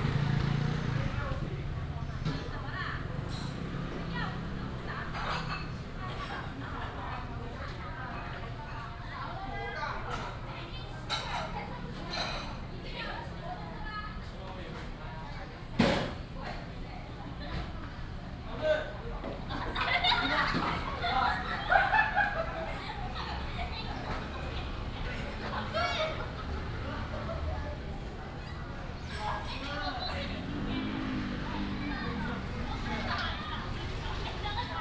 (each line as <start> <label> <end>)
0.0 store is finishing the cleaning 7.3
18.9 store is finishing the cleaning 34.8
20.8 Tourists 34.8